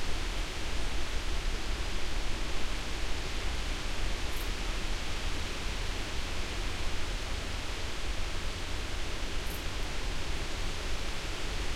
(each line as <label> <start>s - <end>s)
wind 0.0s - 11.7s